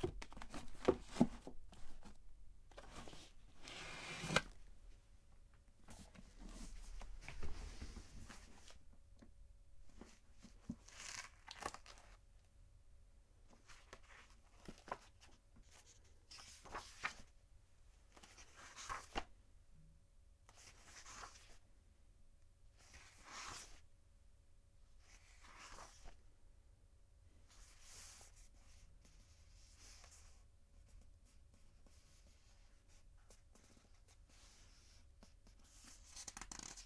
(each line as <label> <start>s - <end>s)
book handling 0.0s - 4.6s
turning the pages 0.0s - 4.7s
turning the pages 5.9s - 8.8s
book handling 9.9s - 12.2s
turning the pages 9.9s - 12.2s
turning the pages 13.5s - 17.3s
book handling 13.5s - 17.3s
turning the pages 18.1s - 19.3s
turning the pages 20.5s - 21.6s
turning the pages 22.8s - 23.8s
turning the pages 25.0s - 26.2s
turning the pages 31.8s - 36.8s